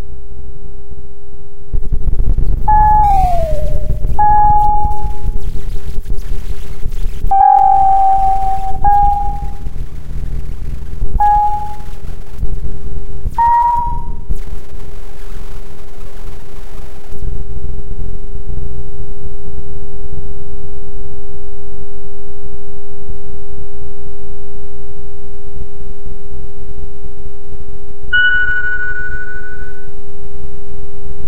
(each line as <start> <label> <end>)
1.8 tiny interference 18.5